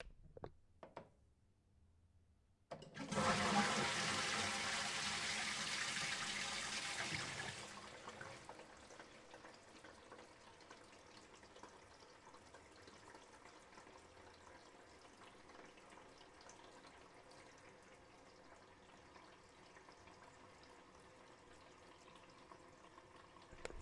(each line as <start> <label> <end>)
2.7 flushing toilet 23.8